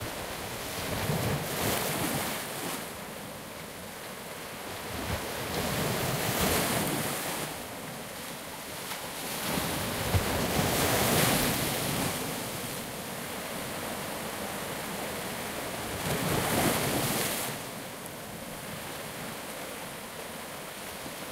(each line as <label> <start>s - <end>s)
waves 0.0s - 21.3s